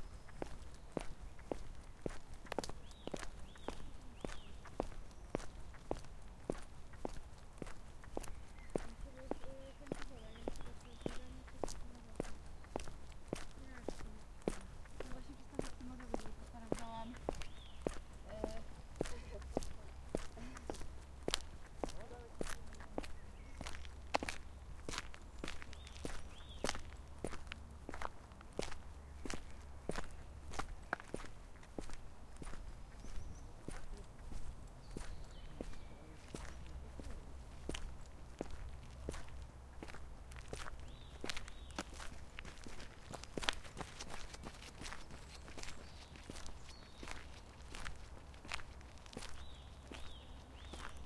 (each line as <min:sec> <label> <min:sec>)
0:00.0 steps in men's shoes on an asphalt street 0:51.0